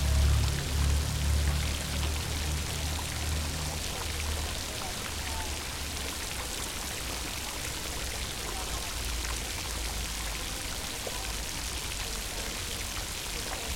fountain 0:00.0 - 0:13.7

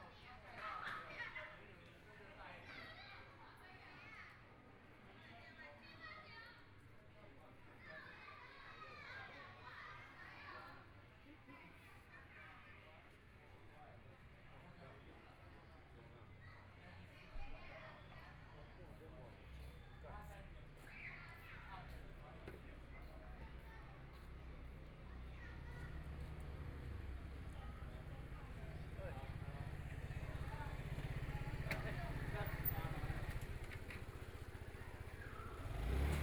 Motorcycle Sound 0:26.1 - 0:36.2

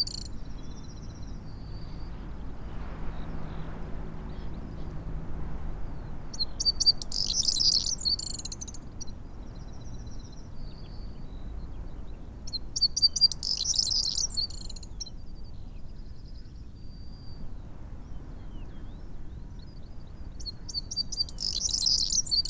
blackbird 0:00.0 - 0:01.2
skylark 0:00.0 - 0:05.0
very windy 0:00.0 - 0:22.4
skylark 0:05.7 - 0:15.2
blackbird 0:05.9 - 0:11.4
blackbird 0:12.5 - 0:15.2
skylark 0:20.2 - 0:22.4
blackbird 0:20.4 - 0:22.4

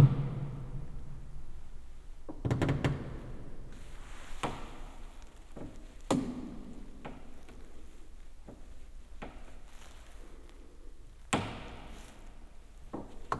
crackle of the wood reverberated in the church 0:00.0 - 0:13.3
rustle of my jacket 0:03.7 - 0:13.3

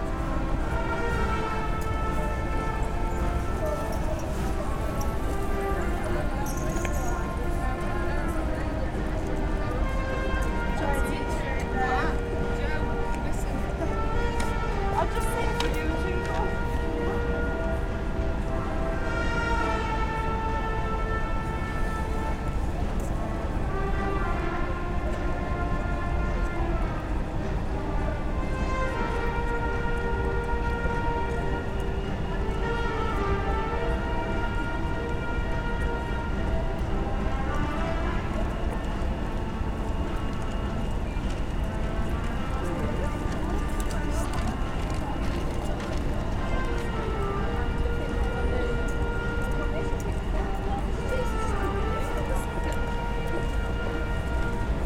Buskers 0:00.0 - 0:54.8

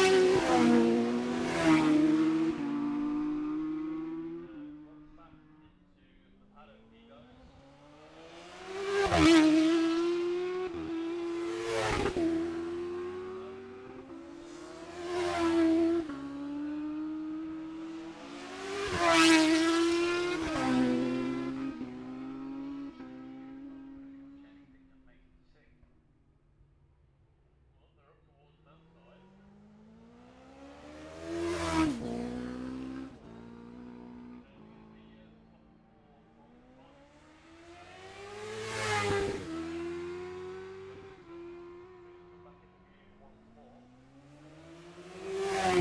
classic superbikes practice 0:00.0 - 0:45.8

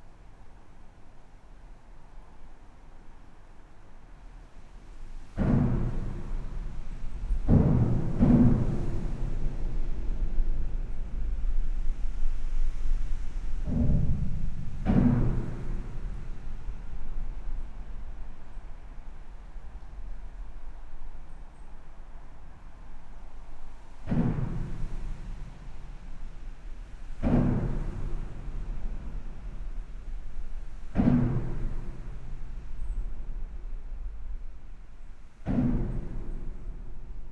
impact noises come from the seals 0:05.2 - 0:17.9
impact noises come from the seals 0:24.0 - 0:33.8
impact noises come from the seals 0:35.4 - 0:37.2

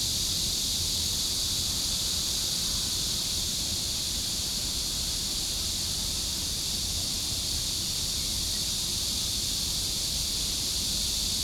cicadas 0:00.0 - 0:11.4

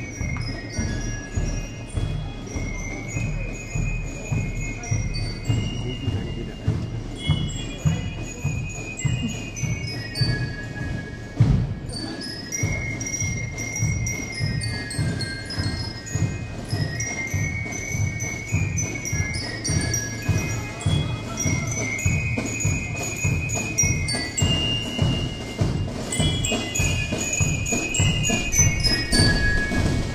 marching bands of local gun clubs 0:00.0 - 0:30.1

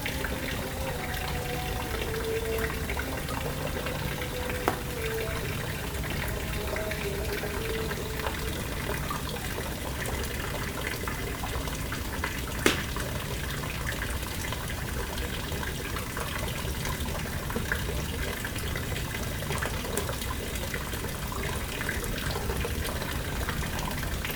distant evening call for prayer 0:00.0 - 0:09.6
fountain 0:00.0 - 0:24.3
charcoal fire 0:04.2 - 0:14.8

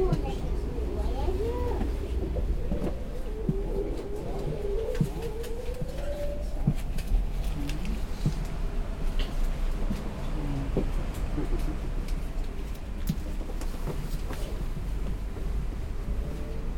Quiet discussions in the train 0:00.0 - 0:16.7
Train to Brussels arrives 0:00.0 - 0:16.7
Walking in the tunnel and on the platform 0:00.0 - 0:16.7

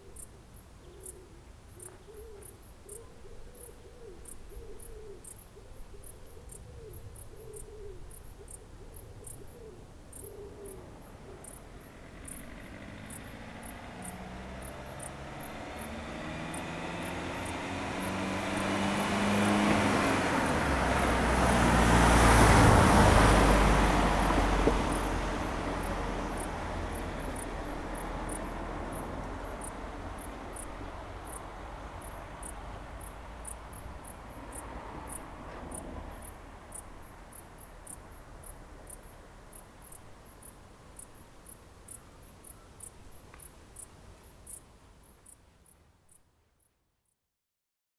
Crickets in the Bushes 0:00.0 - 0:47.2
cars 0:09.2 - 0:46.0

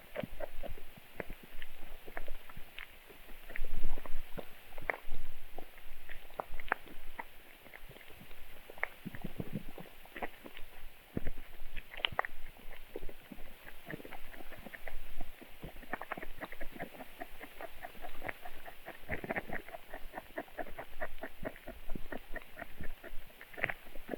tadpoles churning/chewing in a swamp 0:00.0 - 0:24.1

